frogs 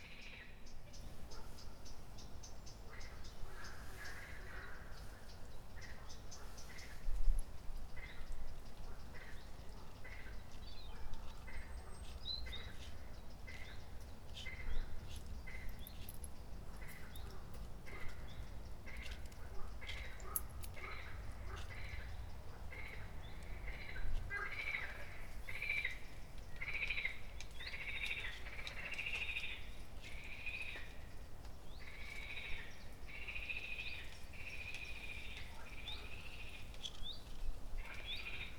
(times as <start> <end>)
18.9 26.0, 26.6 31.0, 31.9 36.6